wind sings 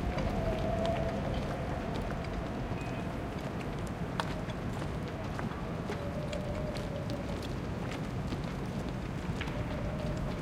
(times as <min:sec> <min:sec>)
0:00.0 0:03.3